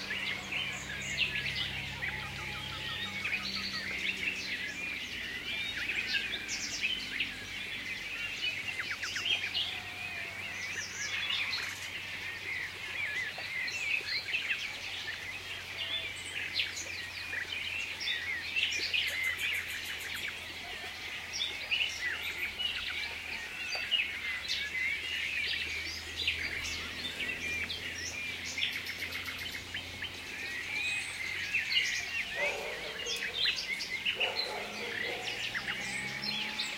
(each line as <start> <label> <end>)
0.0 Blackbird 36.7
0.0 distant traffic 36.7
0.0 nightingale 36.7
32.3 house sparrow 33.5
32.4 dog barkings 33.5
34.1 house sparrow 35.6
34.2 dog barkings 35.4